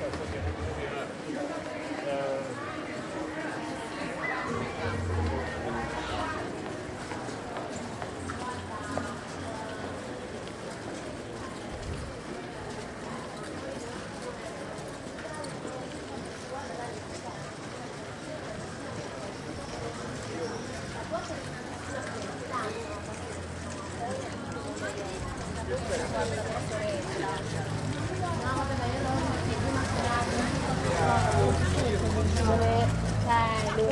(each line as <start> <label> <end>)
0.0 walking among people 33.9